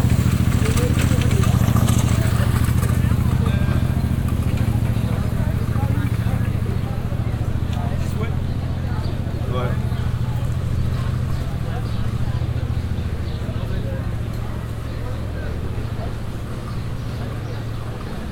crowded by an international group of visitors 0:00.0 - 0:18.3
pavement cleaning machine passing by 0:00.0 - 0:18.3

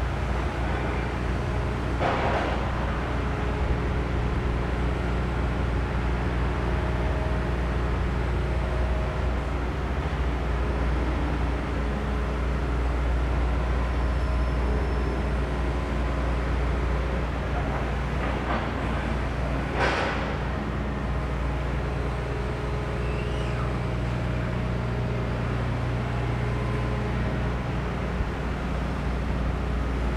Construction Sound 0:16.5 - 0:30.0

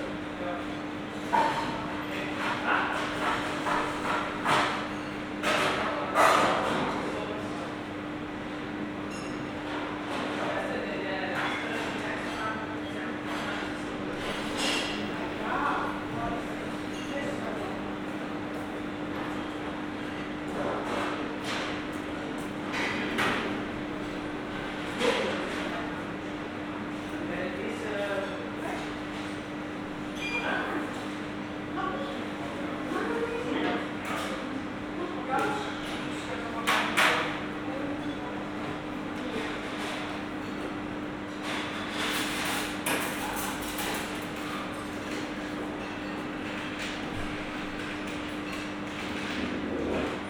busy staff members, guests 0:00.0 - 0:50.2

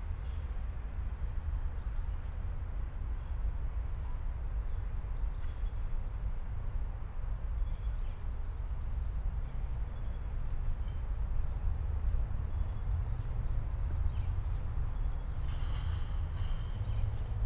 train passing-by on the bridge above 0:12.0 - 0:17.4

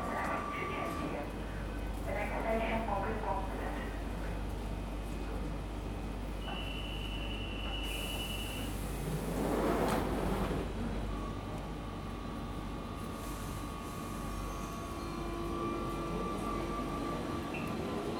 Trains coming and going 0:07.6 - 0:18.1

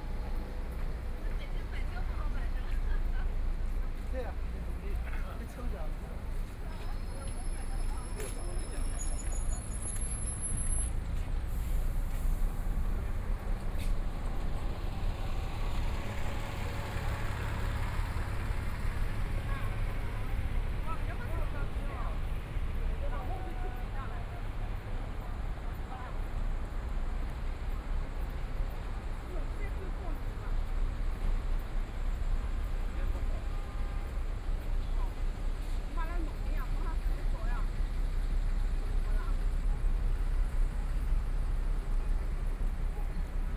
Traffic Sound 0:00.0 - 0:43.5
Road traffic light slogan sounds 0:12.5 - 0:28.1

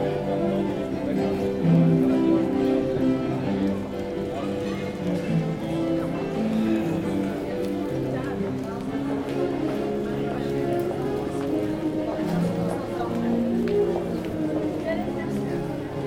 cello 0:00.0 - 0:16.0
keyboard 0:00.0 - 0:16.0

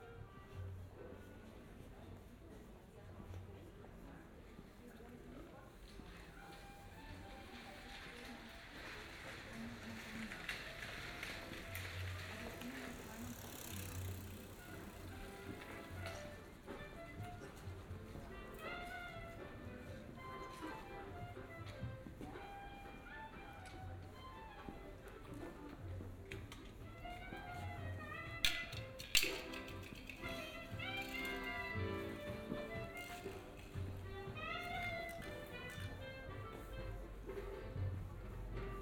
putting out commodities 0:26.5 - 0:36.7

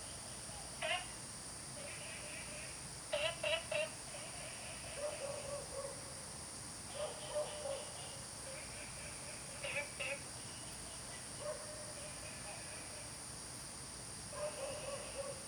Frog calls 0:00.0 - 0:01.2
Frog calls 0:01.8 - 0:05.6
Dogs barking 0:05.0 - 0:06.1
Frog calls 0:06.9 - 0:13.2
Dogs barking 0:06.9 - 0:08.0
Dogs barking 0:11.4 - 0:11.9
Dogs barking 0:14.3 - 0:15.4

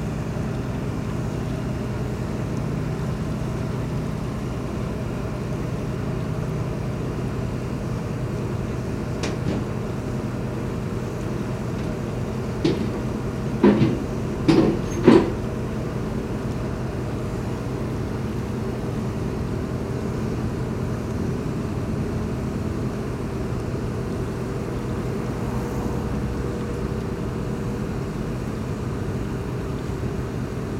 ferry charging cars and crossing the Seine river 0:00.0 - 0:30.7

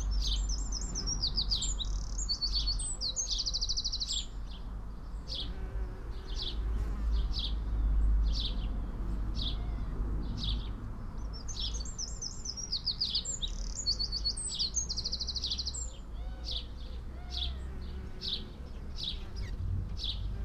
traffic noise 0:00.0 - 0:20.4
bees on lavender 0:05.3 - 0:07.7
bees on lavender 0:16.3 - 0:20.4

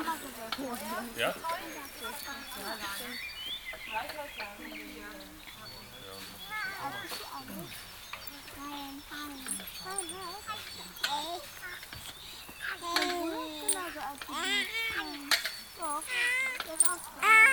children talking 0:00.0 - 0:17.5

